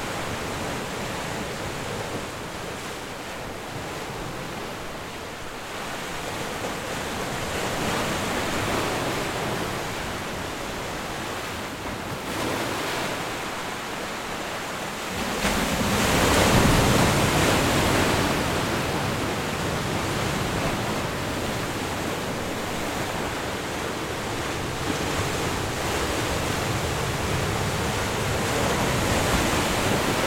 The Ocean 0.0 - 30.2

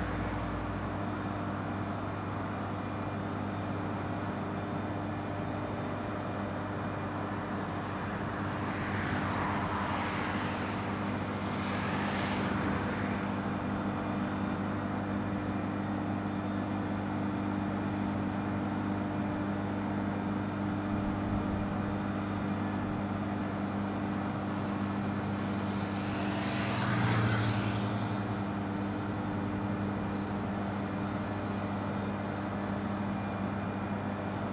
generators 19.3 - 34.5

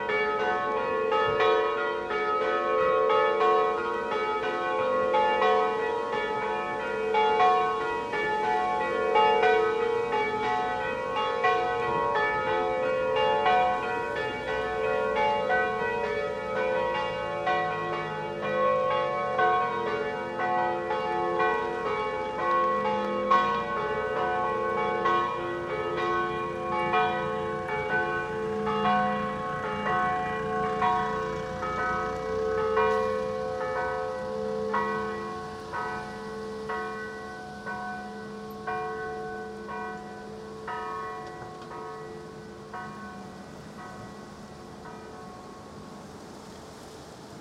Church bell ringing 0.0 - 46.0

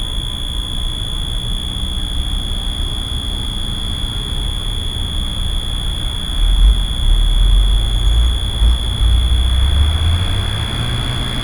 Electric power transformer 0.0 - 11.4
Road traffic 7.2 - 11.4

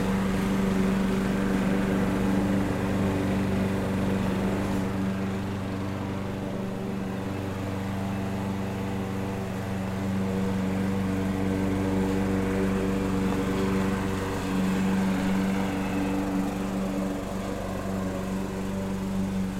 Power mower noise 0.0 - 19.5

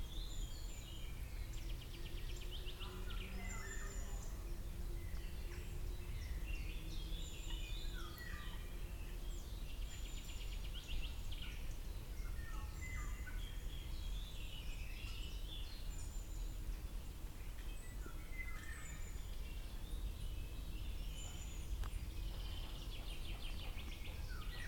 Birds chirping 0.0 - 24.6

